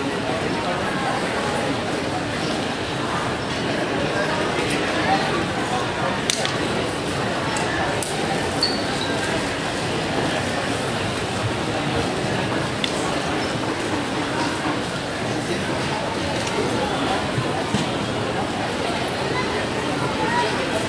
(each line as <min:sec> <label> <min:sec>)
0:07.2 trolley 0:20.8
0:07.2 children 0:20.8